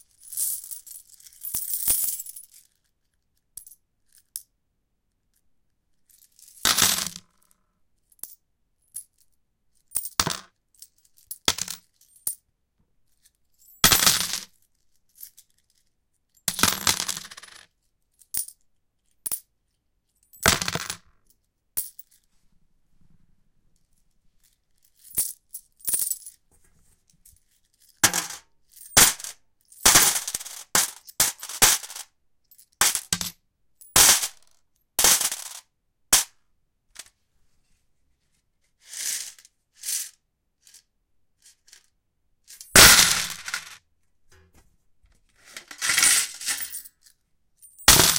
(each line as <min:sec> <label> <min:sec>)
0:00.3 drop some coins on a metallic surface 0:02.5
0:06.6 drop some coins on a metallic surface 0:07.4
0:09.9 drop some coins on a metallic surface 0:10.5
0:11.3 drop some coins on a metallic surface 0:12.4
0:13.7 drop some coins on a metallic surface 0:14.5
0:16.5 drop some coins on a metallic surface 0:17.6
0:20.3 drop some coins on a metallic surface 0:21.1
0:25.0 drop some coins on a metallic surface 0:26.4
0:27.8 drop some coins on a metallic surface 0:36.3
0:38.9 drop some coins on a metallic surface 0:40.8
0:42.5 drop some coins on a metallic surface 0:43.8
0:45.4 drop some coins on a metallic surface 0:48.1